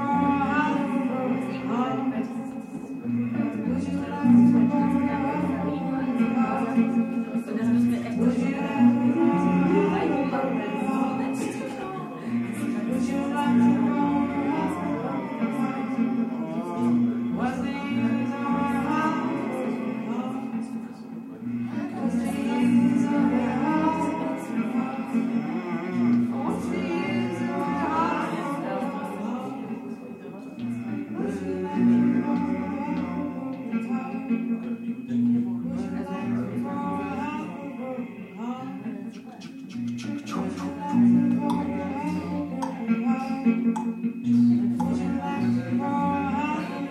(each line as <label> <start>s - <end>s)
guitar 0.0s - 46.9s